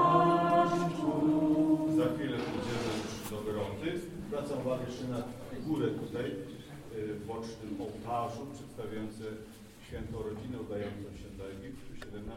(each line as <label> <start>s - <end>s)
singing, chanting and praying ritual songs 0.0s - 4.2s